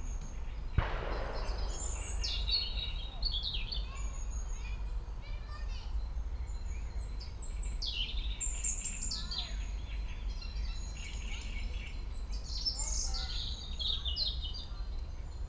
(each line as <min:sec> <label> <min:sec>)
0:00.8 heavy shooting 0:03.9
0:00.8 robin 0:04.2